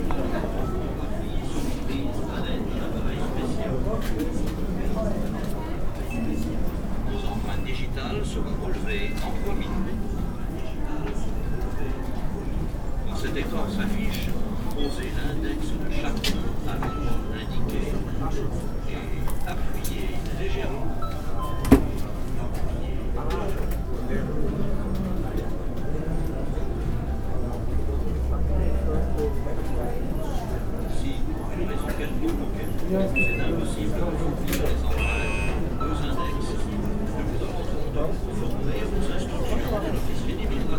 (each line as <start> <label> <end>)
14.1 fingerprint computer 38.9